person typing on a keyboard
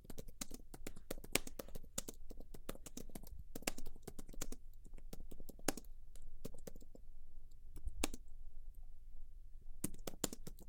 0.0 7.0, 7.7 8.2, 9.8 10.6

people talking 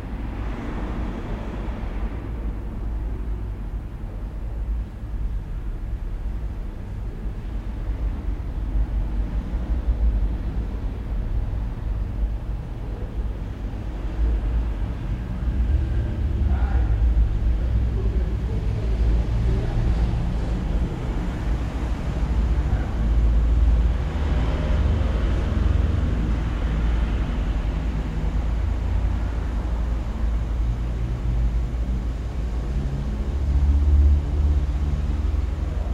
15.4 23.4

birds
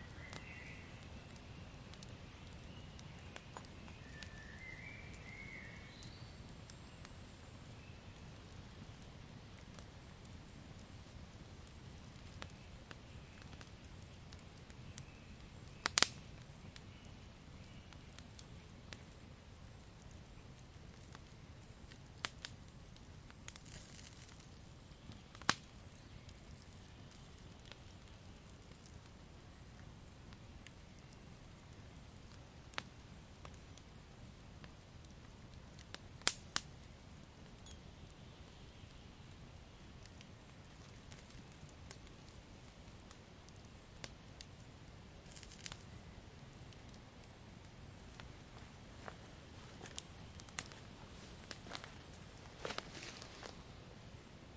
0.0 8.6

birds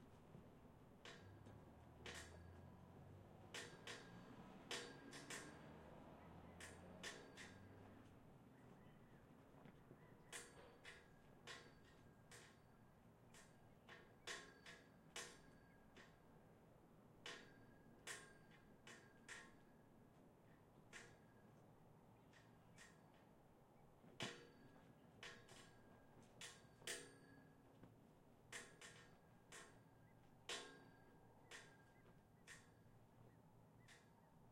8.4 12.5

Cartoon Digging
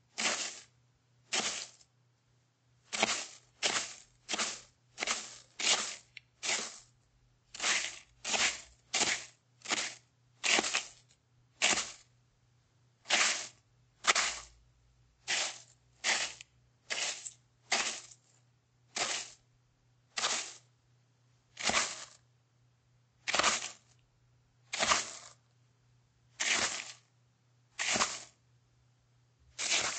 0.2 0.6, 2.9 6.8, 7.6 11.0, 27.8 28.3, 29.6 29.9

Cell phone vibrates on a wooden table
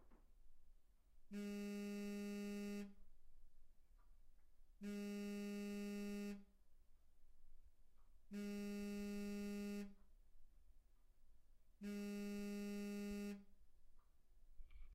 1.3 3.0, 4.8 6.5, 8.3 10.1, 11.8 13.5

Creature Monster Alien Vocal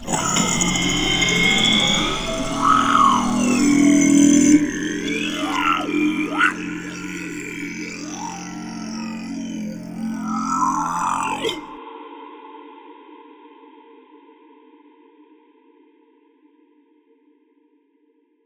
0.0 11.8

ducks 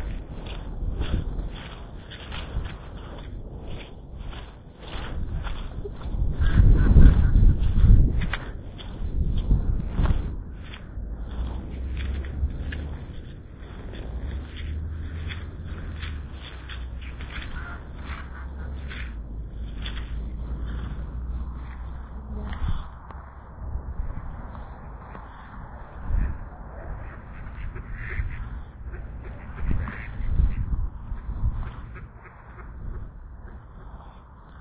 14.5 19.2, 26.8 30.7, 31.6 34.2

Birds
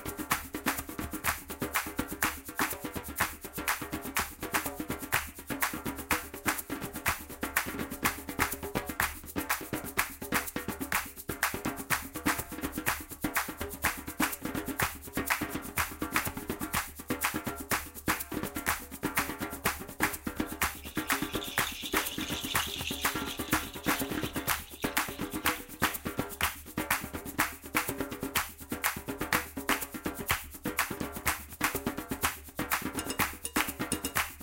20.6 25.8

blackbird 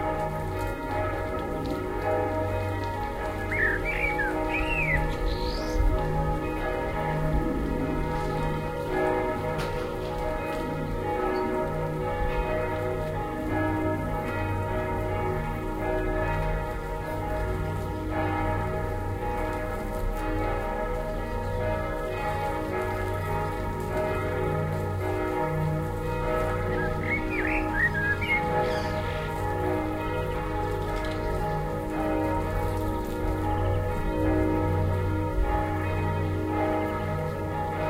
3.4 5.9, 26.7 29.1

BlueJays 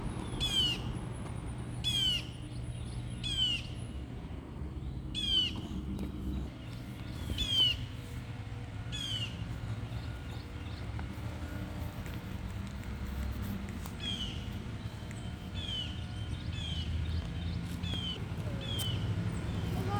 0.4 0.9, 5.2 8.1, 13.9 14.7

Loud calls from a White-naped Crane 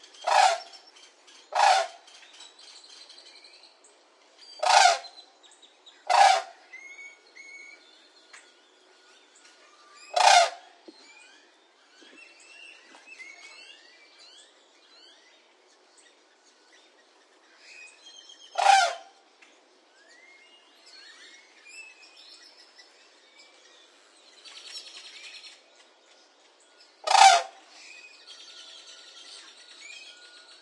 0.2 0.7, 1.6 2.0, 4.6 5.1, 6.1 6.6, 10.1 10.7, 18.6 19.1, 27.0 27.6

